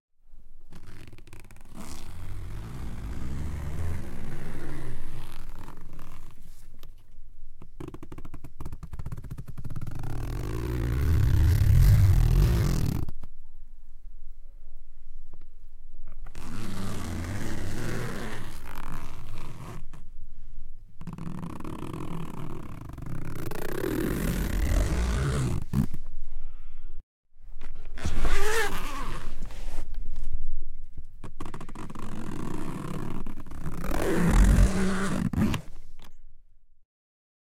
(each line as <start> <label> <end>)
0.7 zip pulls 6.5
7.8 zip pulls 13.1
16.3 zip pulls 20.0
21.0 zip pulls 26.0
28.0 zip pulls 29.5
31.3 zip pulls 35.7